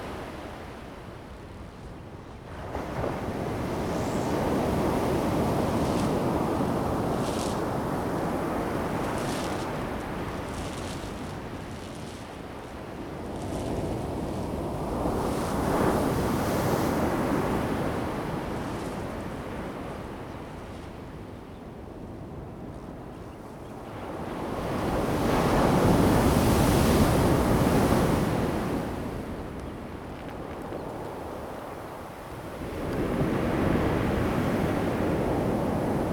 waves 0:02.6 - 0:21.3
waves 0:24.1 - 0:36.1

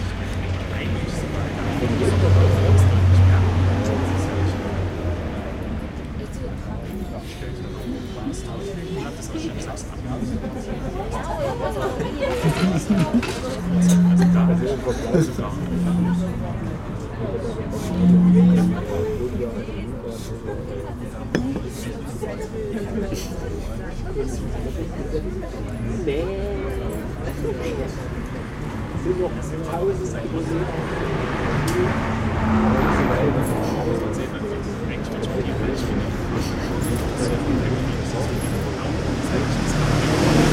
straßenverkehr 0:12.1 - 0:19.9
stimmen der gäste 0:12.2 - 0:19.5

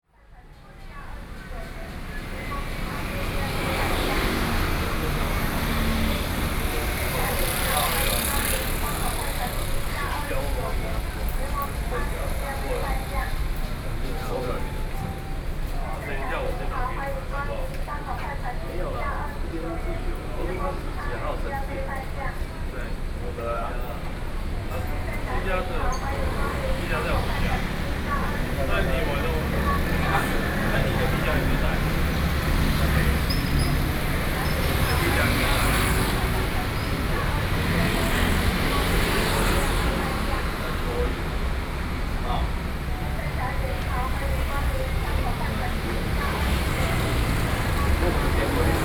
Traffic Noise 0:00.1 - 0:48.8

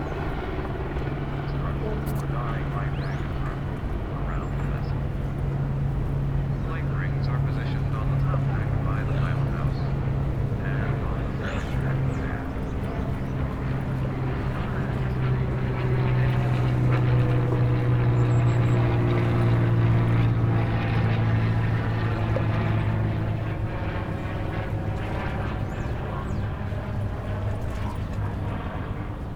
announcements from the tour boats 0:00.0 - 0:29.3
helicopters passing by 0:00.0 - 0:29.3
water 0:00.0 - 0:29.3

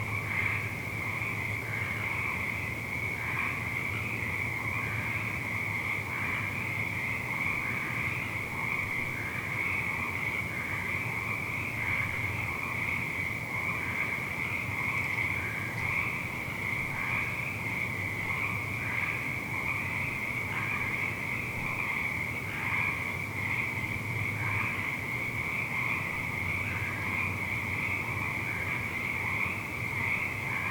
Intermittent frog chorus 0:00.0 - 0:30.7
Rare midnight birds 0:00.0 - 0:30.7

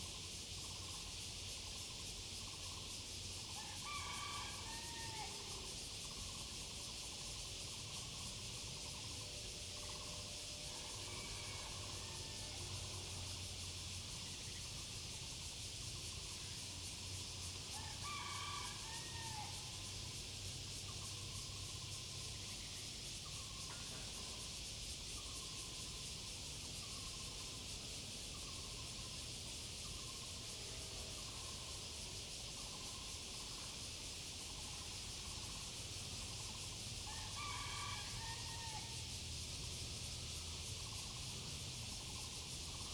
Cicada 0:00.0 - 0:42.9

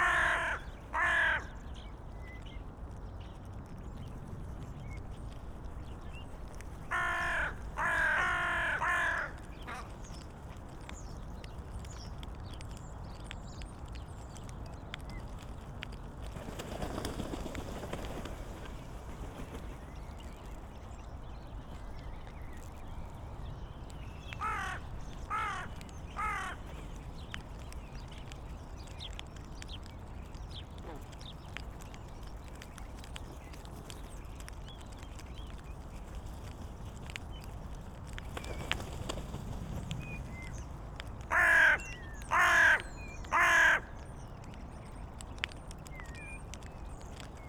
starlings in tree behind 0:00.0 - 0:03.2
Dun crows picking food 0:00.0 - 0:47.4
starlings in tree behind 0:16.5 - 0:36.0
starlings in tree behind 0:38.2 - 0:47.4

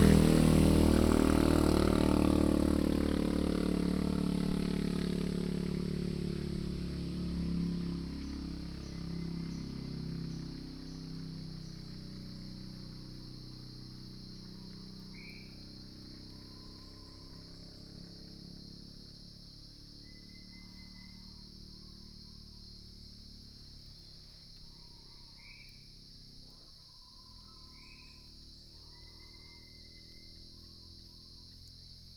Cicadas sound 0:00.0 - 0:32.1

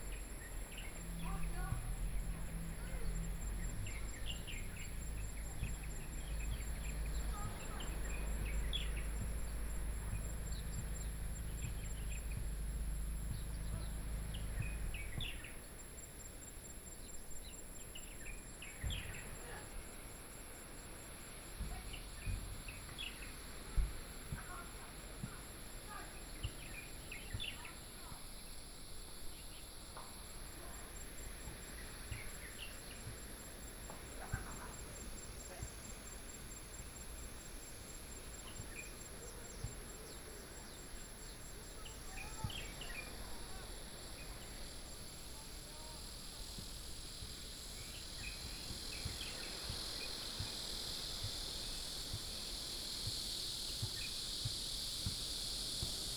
Birdsong sound 0:00.0 - 0:56.1
Cicadas sound 0:00.0 - 0:56.1

